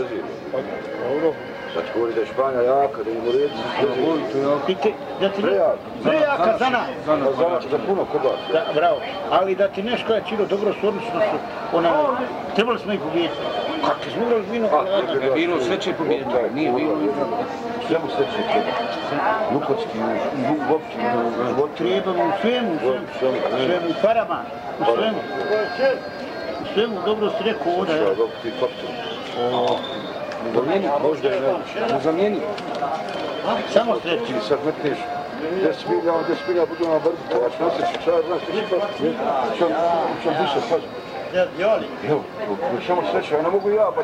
0.0s discussing 44.0s

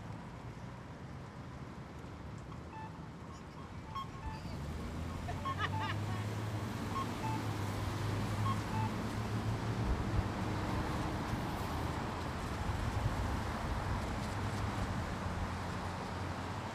2.5s pedestrian signals 9.9s

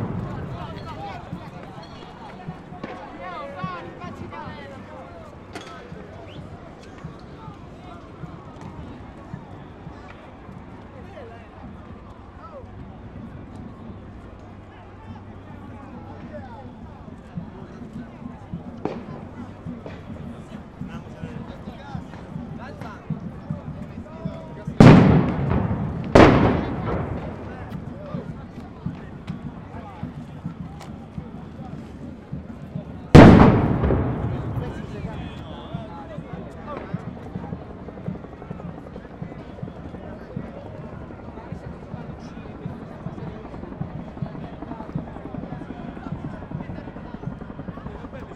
24.8s explosions are provoked by demostrants homemade bomb 27.7s
33.2s explosions are provoked by demostrants homemade bomb 35.4s

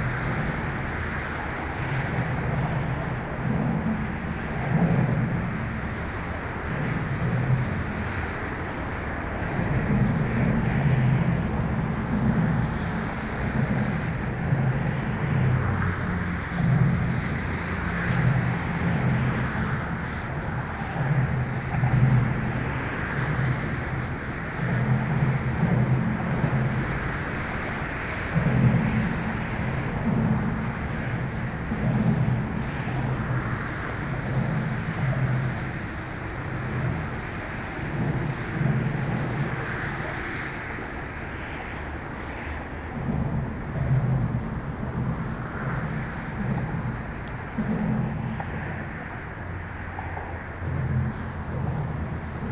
0.0s traffic noise close to the bridge 52.5s

